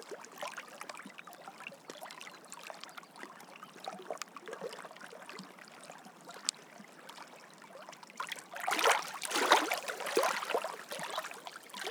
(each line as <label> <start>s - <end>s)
Gentle waves lapping 8.2s - 11.9s